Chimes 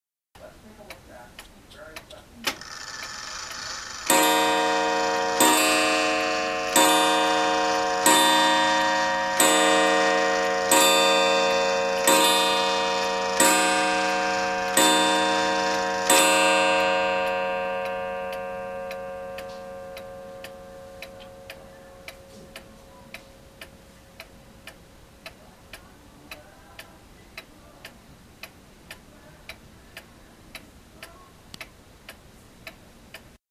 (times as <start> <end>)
4.0 23.9